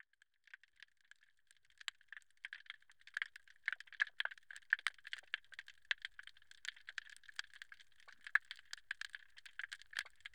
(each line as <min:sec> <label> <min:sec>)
0:00.0 underwater calm 0:10.3